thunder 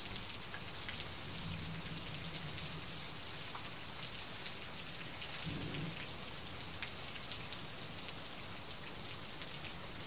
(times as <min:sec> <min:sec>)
0:05.4 0:06.0